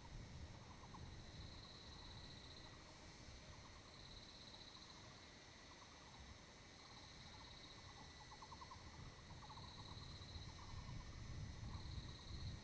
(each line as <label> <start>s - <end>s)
Cicadas cry 0.0s - 12.6s